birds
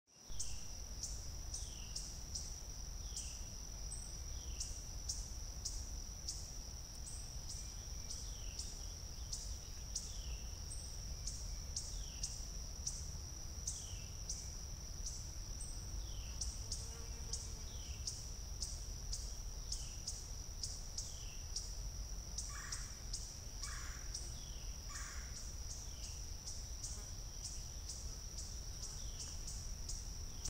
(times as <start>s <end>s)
22.3s 30.4s